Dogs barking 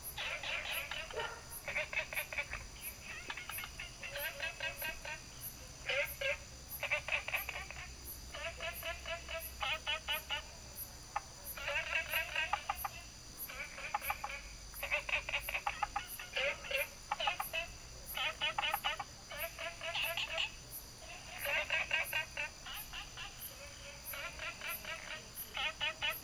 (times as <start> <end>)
0.9 1.7